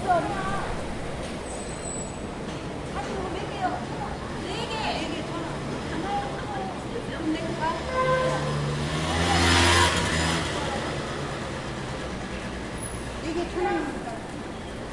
Motorbike 0:07.2 - 0:14.9

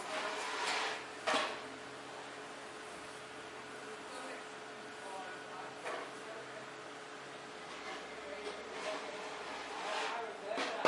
workers 0:00.0 - 0:03.2
workers 0:03.9 - 0:10.8

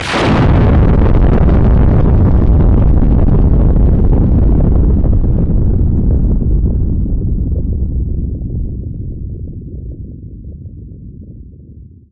Thunderclap 0:00.0 - 0:10.0

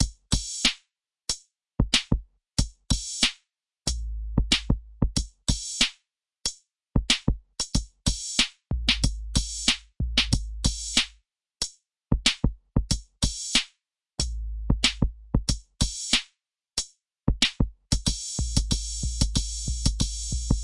snare 0:00.6 - 0:00.8
snare 0:03.1 - 0:03.4
snare 0:05.8 - 0:06.0
snare 0:08.4 - 0:11.2
snare 0:13.4 - 0:13.8
snare 0:16.1 - 0:16.4

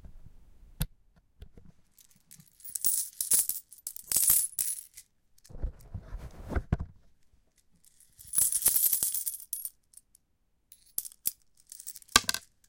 coins on a metallic surface 0:01.9 - 0:05.1
coins on a metallic surface 0:07.6 - 0:12.6

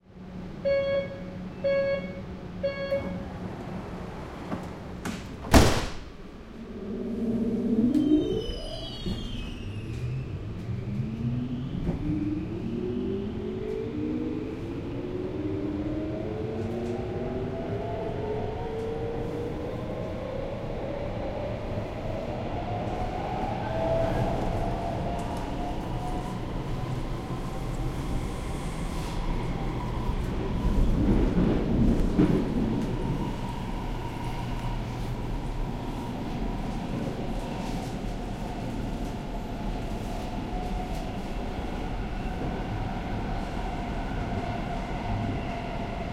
metro starts to run 0:00.0 - 0:46.1
train leaving and receding 0:00.0 - 0:46.1
door signal from outside 0:00.6 - 0:03.2
doors close 0:02.9 - 0:06.2

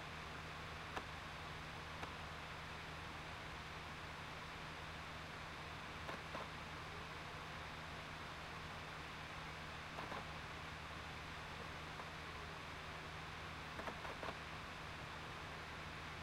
laptop dvd drive reading disc 0:06.0 - 0:07.0
laptop dvd drive reading disc 0:09.9 - 0:10.4
laptop dvd drive reading disc 0:13.6 - 0:14.6

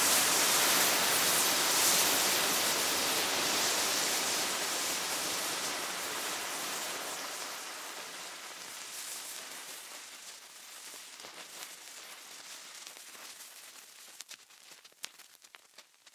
home made smoke 0:00.0 - 0:16.1

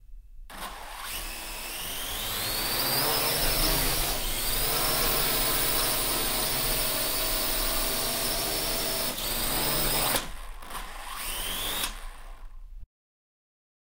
drone quadrocopter launch 0:09.0 - 0:12.5

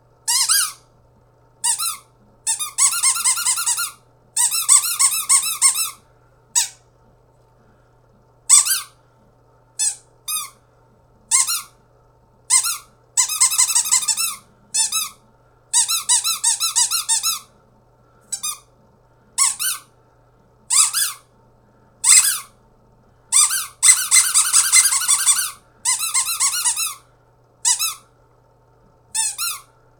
squeaky toy ring 0:00.3 - 0:00.8
squeaky toy ring 0:01.6 - 0:06.0
squeaky toy ring 0:08.5 - 0:09.0
squeaky toy ring 0:09.8 - 0:10.6
squeaky toy ring 0:11.3 - 0:11.7
squeaky toy ring 0:12.5 - 0:15.2
squeaky toy ring 0:15.8 - 0:17.5
squeaky toy ring 0:19.4 - 0:19.9
squeaky toy ring 0:20.7 - 0:21.2
squeaky toy ring 0:22.0 - 0:22.5
squeaky toy ring 0:23.4 - 0:27.0
squeaky toy ring 0:27.6 - 0:28.0
squeaky toy ring 0:29.2 - 0:29.7

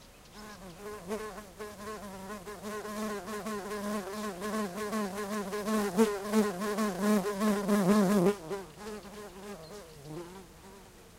birds sing in background 0:00.0 - 0:02.1
large solitary bee moving around the mic 0:00.3 - 0:11.1
birds sing in background 0:04.0 - 0:04.9
birds sing in background 0:08.5 - 0:11.1

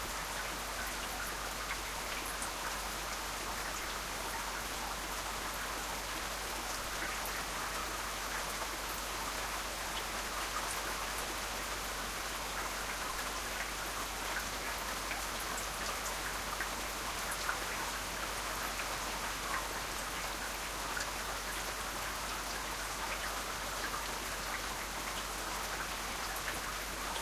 Summer rain 0:00.0 - 0:27.2

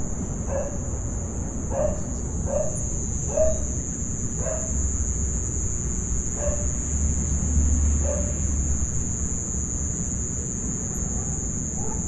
Intense crickets 0:00.0 - 0:12.0
barking 0:00.5 - 0:00.8
barking 0:01.7 - 0:03.6
barking 0:04.4 - 0:04.7
barking 0:06.4 - 0:06.7
barking 0:08.0 - 0:08.4
barking 0:11.0 - 0:12.0

